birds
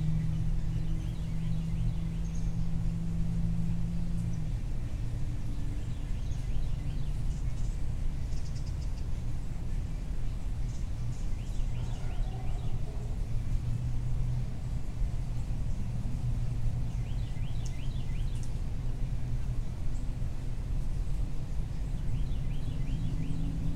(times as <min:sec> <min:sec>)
0:10.3 0:13.7, 0:16.9 0:18.6